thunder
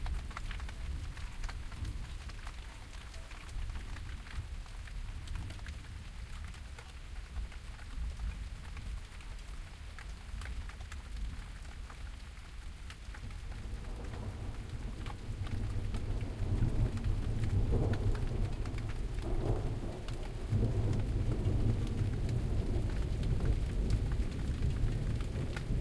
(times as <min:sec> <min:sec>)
0:13.6 0:25.8